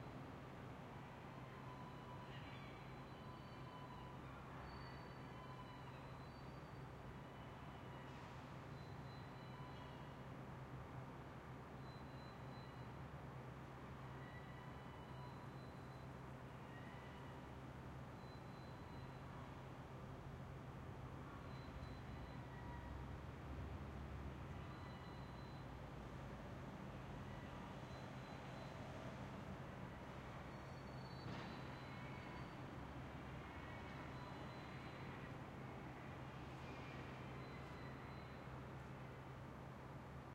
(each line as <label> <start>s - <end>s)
traffic 0.0s - 40.3s